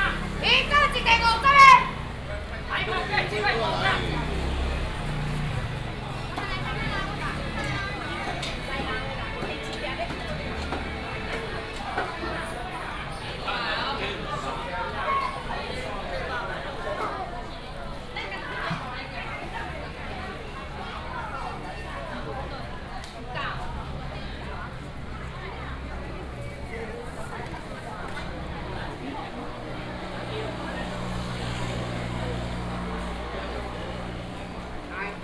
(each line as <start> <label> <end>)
0.0 Walking through the market 35.2